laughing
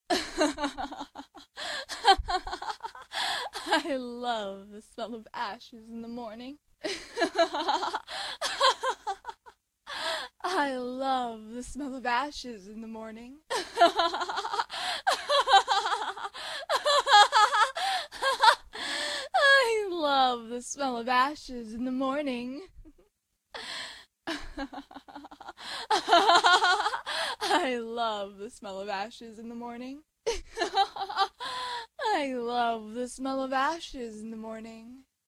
0:00.1 0:03.8, 0:13.5 0:18.6

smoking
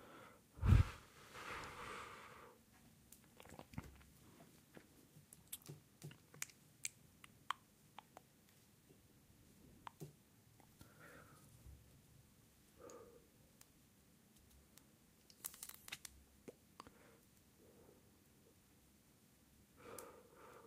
0:00.6 0:02.4

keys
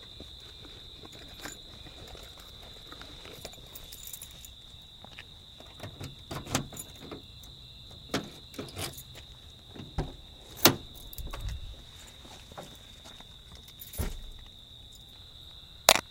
0:01.1 0:04.6, 0:05.2 0:09.3, 0:10.5 0:11.7

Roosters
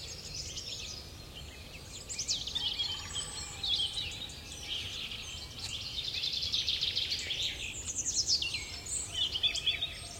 0:02.4 0:04.8

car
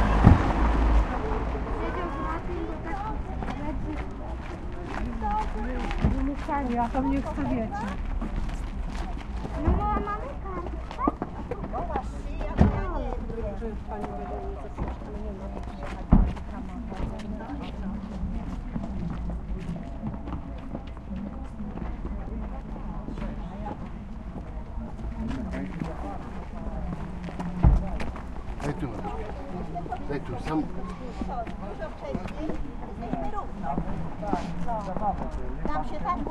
0:00.0 0:04.3

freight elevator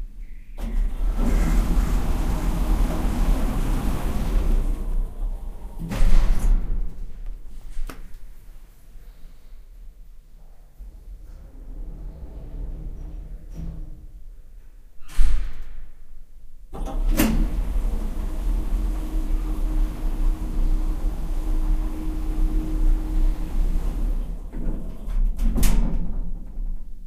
0:00.6 0:07.8, 0:10.8 0:14.4, 0:16.7 0:27.0

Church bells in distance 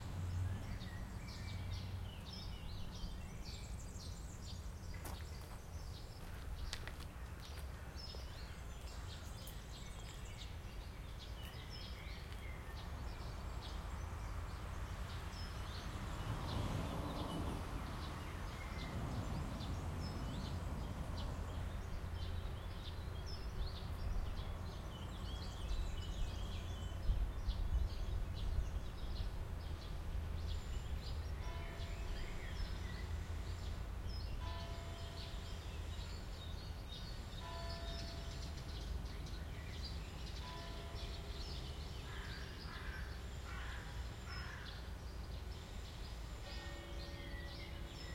0:31.4 0:33.4, 0:34.3 0:36.2, 0:37.3 0:38.9, 0:40.2 0:43.7, 0:46.4 0:48.1

